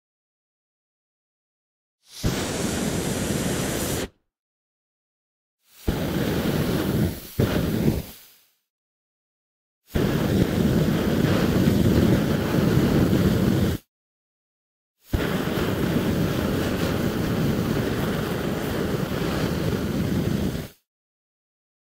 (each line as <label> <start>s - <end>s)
Flamethrower short and medium lenght bursts 2.0s - 4.2s
Flamethrower short and medium lenght bursts 5.6s - 8.6s
Flamethrower short and medium lenght bursts 9.9s - 13.9s
Flamethrower short and medium lenght bursts 15.0s - 20.8s